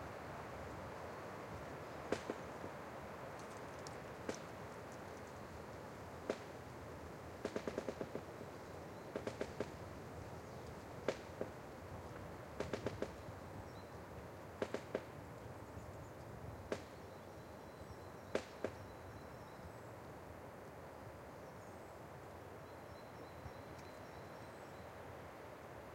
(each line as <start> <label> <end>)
0.0 Creaking of trees in the wind 17.0